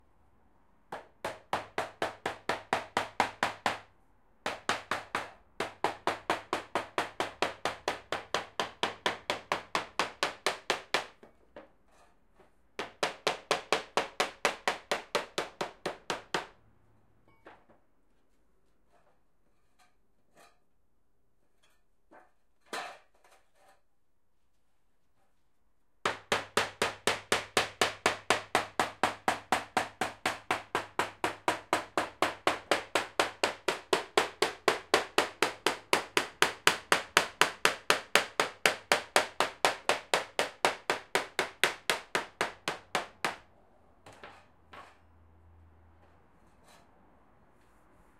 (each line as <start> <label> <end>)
26.0 hammer noise 45.0